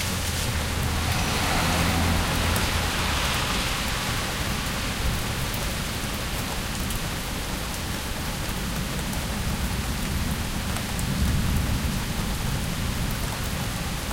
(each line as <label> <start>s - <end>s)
thunder distant 0.0s - 6.0s
Rain 0.0s - 14.1s
Traffic noise in background 0.0s - 14.1s